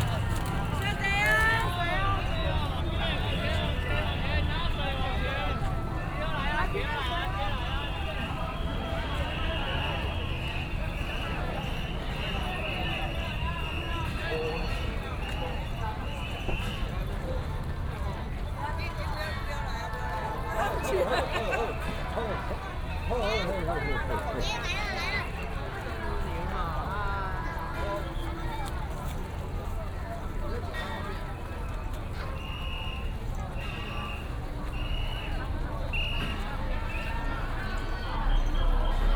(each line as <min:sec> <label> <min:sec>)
0:00.0 A lot of people 0:39.1
0:32.4 Whistle sound 0:37.1